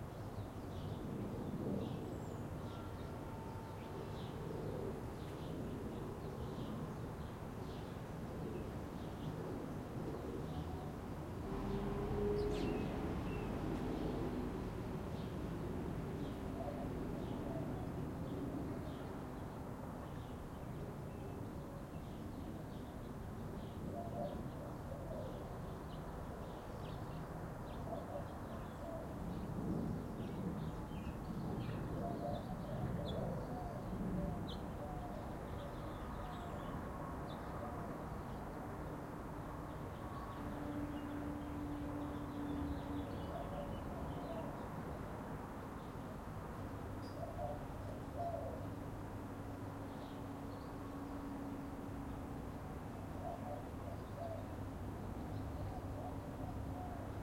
distant cars 10.2 - 20.4

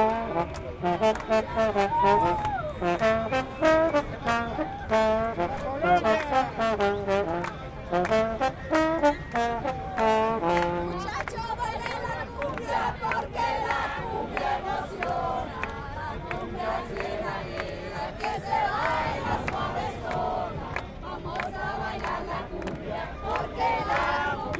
Trombón 0.0 - 11.2
Trumpet 0.0 - 11.3
people singing 11.3 - 24.5

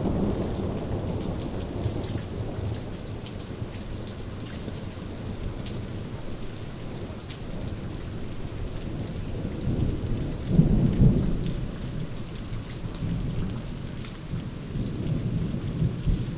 medium rain 0.0 - 16.3

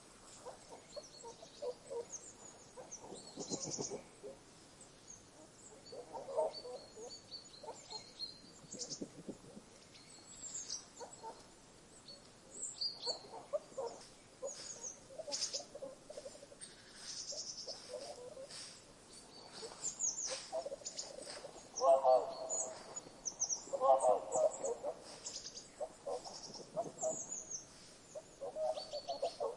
birdsong 0.0 - 29.5
nuthatch 0.4 - 4.4
Willow tit 0.6 - 4.3
Willow tit 5.6 - 11.4
Willow tit 12.0 - 29.5
nuthatch 12.9 - 29.5
Swans 13.0 - 29.5

